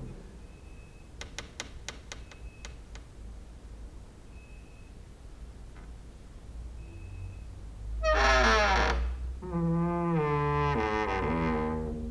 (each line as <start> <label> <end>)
8.0 creaking with wooden doors 12.1